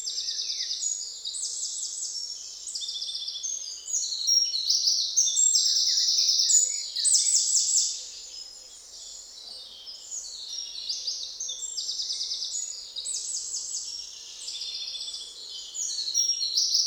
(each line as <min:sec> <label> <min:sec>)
0:00.0 Common blackbird 0:16.8
0:00.0 Common robin 0:16.8
0:09.4 Eurasian Blackcap 0:16.8
0:09.4 Eurasian Blue Tit 0:16.8